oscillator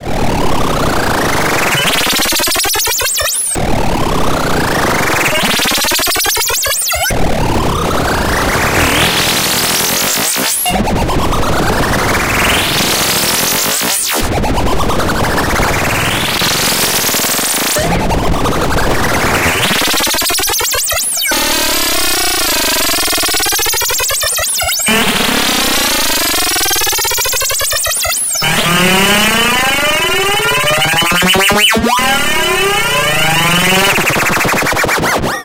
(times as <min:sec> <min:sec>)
0:14.9 0:35.4